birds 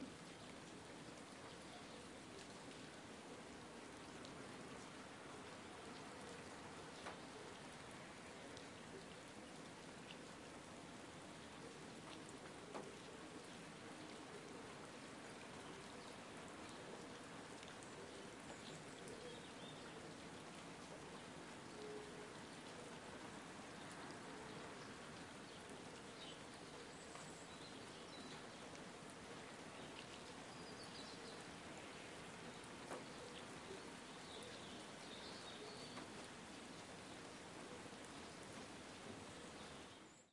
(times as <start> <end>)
12.7 20.4, 23.6 40.3